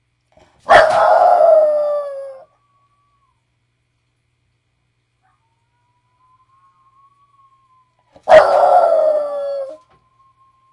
English Bulldog crying, barking, and howling 0:00.7 - 0:02.5
toy poodle also howling in the background 0:05.2 - 0:10.7
English Bulldog crying, barking, and howling 0:08.1 - 0:09.8

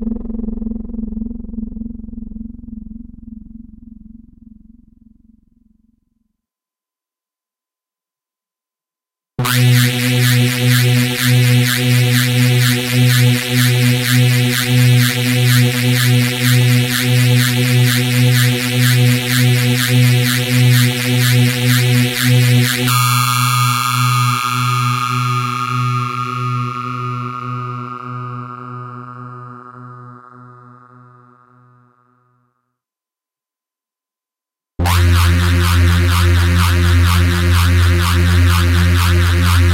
drone 0:00.0 - 0:05.9
drone 0:34.8 - 0:39.7

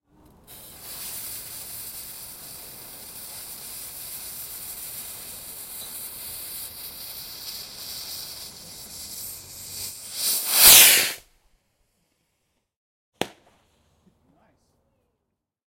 Ignite fuze 0:00.5 - 0:11.2
rocket 0:07.3 - 0:11.4
Small pop 0:10.2 - 0:11.3
Small pop 0:13.2 - 0:13.6

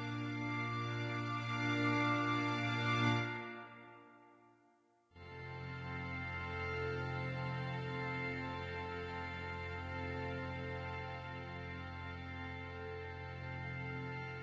strings section 0:00.0 - 0:04.0

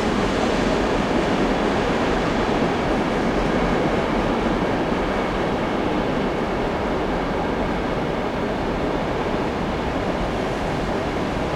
distant, noisy, train passes by 0:00.0 - 0:11.5

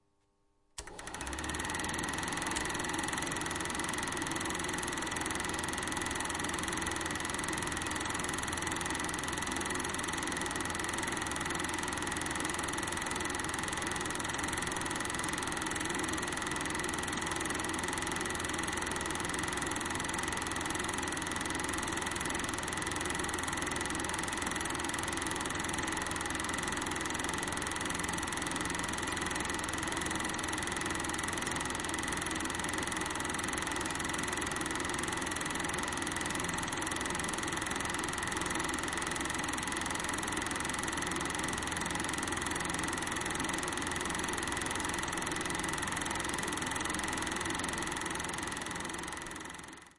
real super8 mm projector starting 0:00.8 - 0:49.9

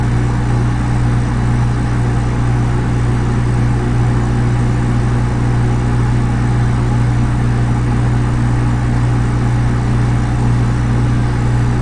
Refrigerator Humming 0:00.0 - 0:11.8

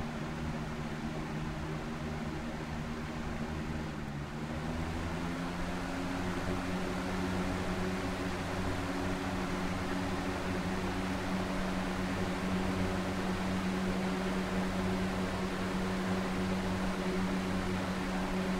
box fan 0:00.0 - 0:18.5

